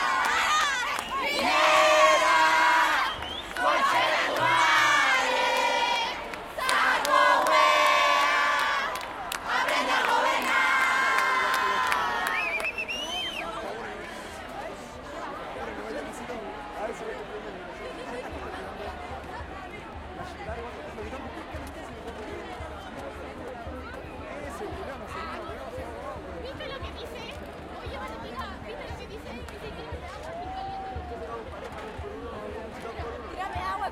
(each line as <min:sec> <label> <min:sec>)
0:00.0 crowd 0:33.9